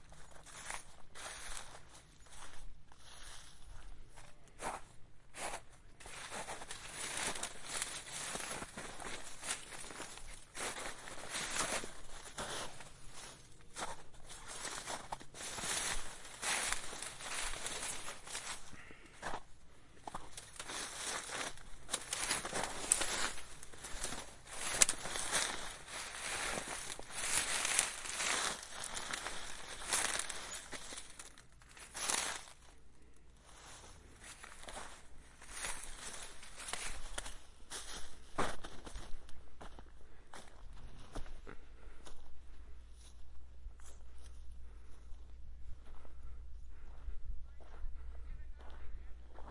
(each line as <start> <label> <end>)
0.4 snow crunches underfoot 1.9
5.4 snow crunches underfoot 19.4
20.0 snow crunches underfoot 32.7
20.3 bullrushes and reeds crackle and snap 32.6
33.5 snow crunches underfoot 39.0
35.5 bullrushes and reeds crackle and snap 37.4